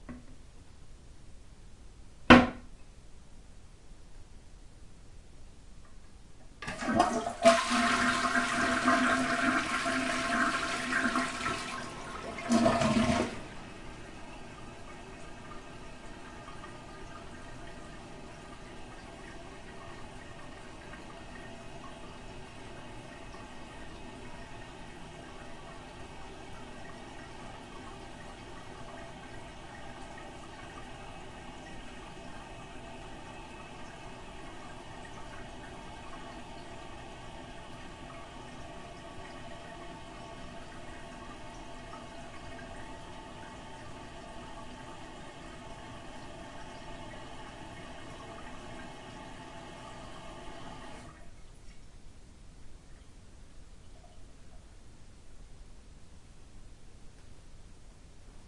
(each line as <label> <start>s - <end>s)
Toilet Flush 6.6s - 51.4s
tank fill 6.6s - 51.9s